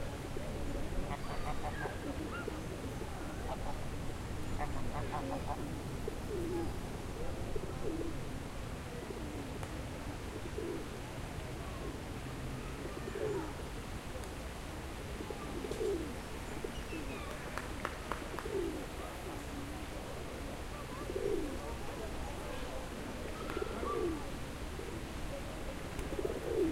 birds 1.1 - 3.8

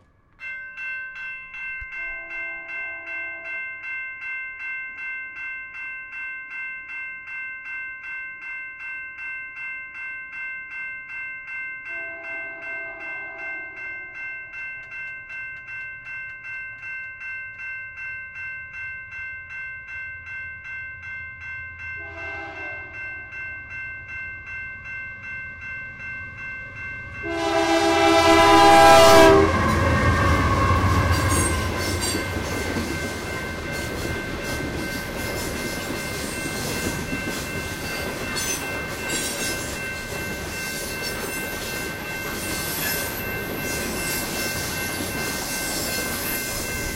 crossing alarm 11.8 - 19.6
freight train passing 11.8 - 15.1
freight train passing 20.7 - 46.9
crossing alarm 21.4 - 46.9
train whistles growing in loudness 22.0 - 23.0
train whistles growing in loudness 27.2 - 32.3

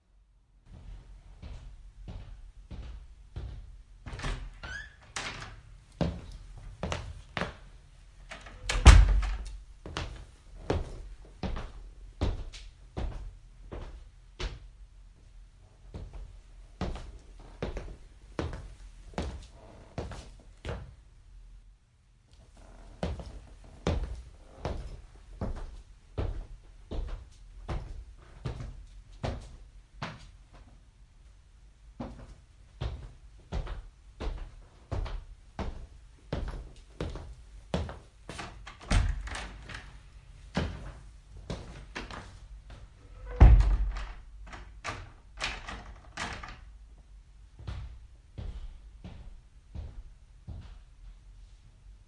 opening and closing a door 4.1 - 5.6
opening and closing a door 8.2 - 9.6
hard-sole dress shoes walking on a creaky wooden floor 16.8 - 20.4
hard-sole dress shoes walking on a creaky wooden floor 22.5 - 27.2
opening and closing a door 38.3 - 40.0
opening and closing a door 41.6 - 46.7

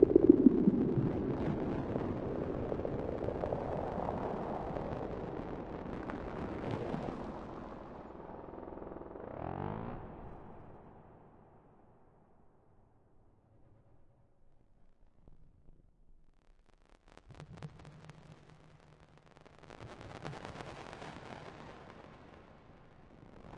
drone 0.0 - 3.4

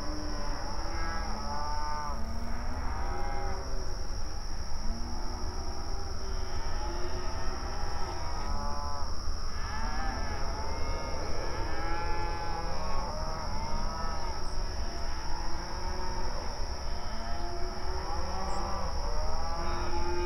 Mournful cows mooing 4.8 - 20.2

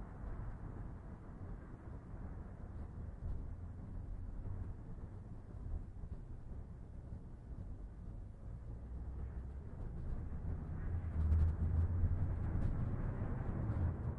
freeway 0.0 - 14.1

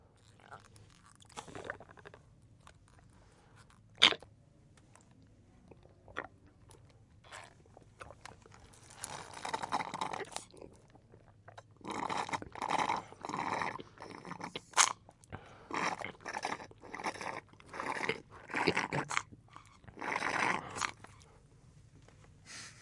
drinking chocolate milk with straw 7.3 - 15.0
drinking chocolate milk with straw 15.7 - 21.2

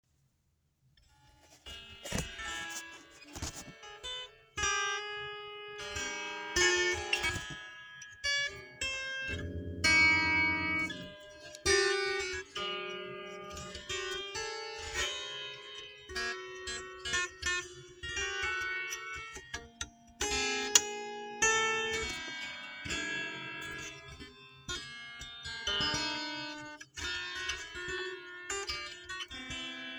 harp 9.3 - 12.6

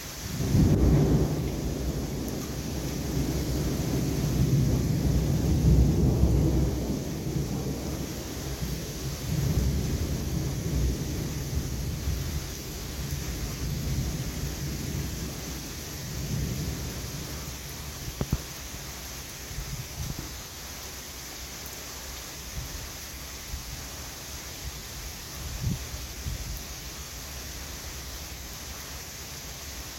distant heavy rain 0.0 - 29.9
thunder 0.4 - 15.4

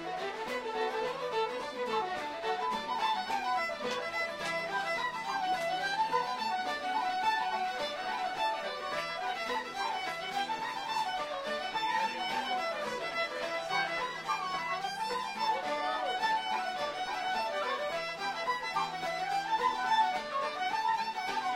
traditional irish music 0.0 - 21.5

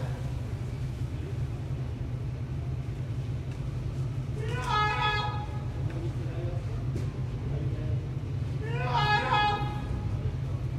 Man shouting 4.4 - 5.7
Man shouting 8.6 - 10.1

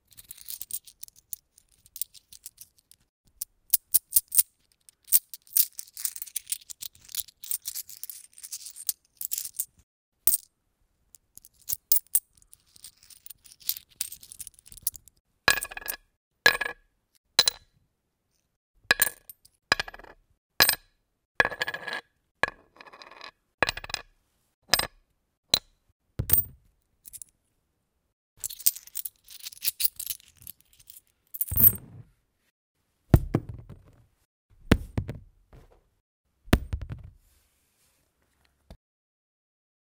coins 0.0 - 9.7
coins 10.3 - 10.5
coins 11.4 - 16.0
coins 27.1 - 27.3
coins 28.4 - 31.9

